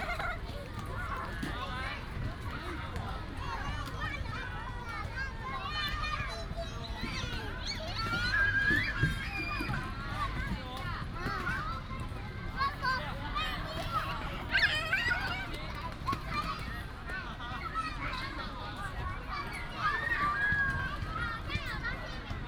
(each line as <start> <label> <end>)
0.0 children 22.4